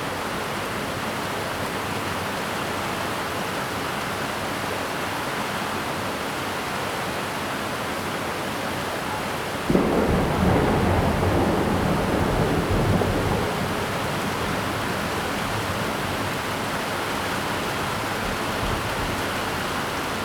6.8s Heavy rain 20.2s
9.7s Thunderstorms 20.2s

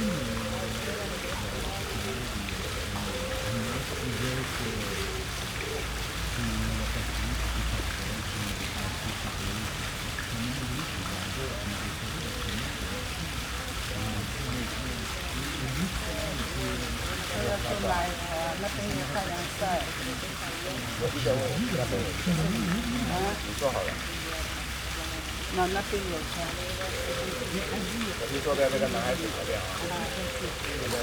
0.0s Pigeons call 8.6s
0.0s fountain 31.0s
0.0s people chatting on benches 31.0s
3.9s cars pass 31.0s
12.0s Pigeons call 31.0s

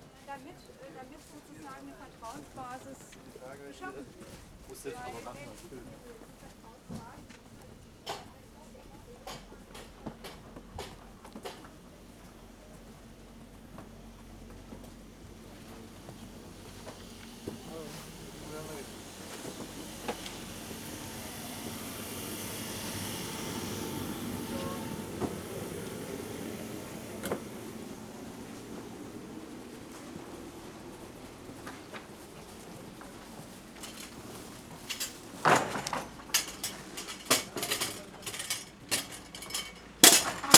31.3s marketeers dismantle their market stalls 40.5s

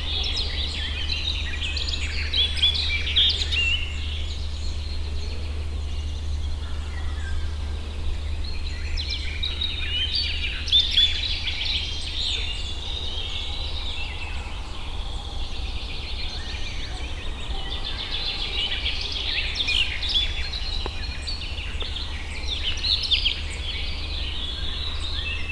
16.3s bird calls 23.8s

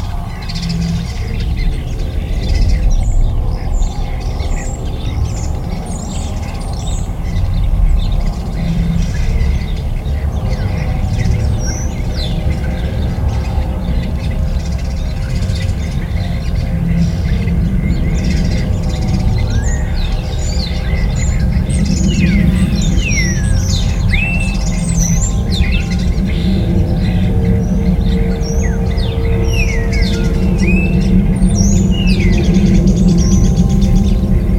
0.0s Birds 34.5s

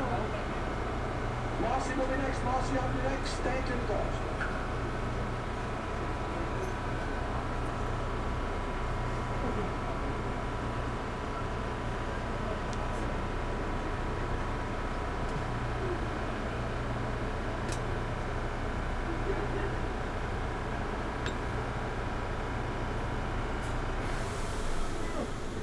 0.0s commuters waiting 25.6s
19.8s J train to start moving 25.6s

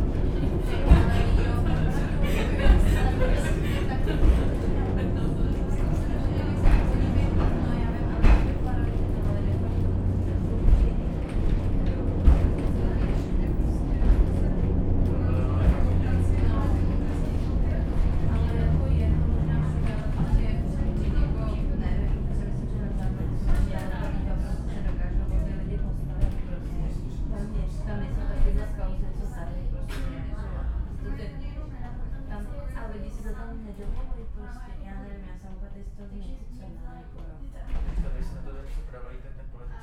0.0s funicular 32.2s

